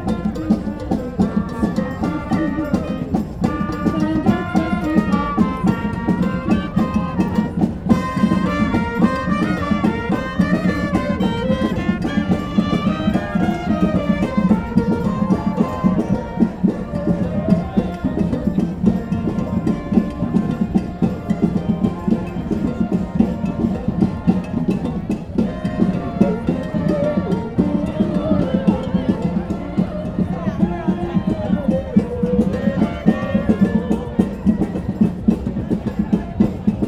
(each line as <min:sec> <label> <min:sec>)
0:00.0 opera singers 0:36.5
0:00.0 band 0:36.8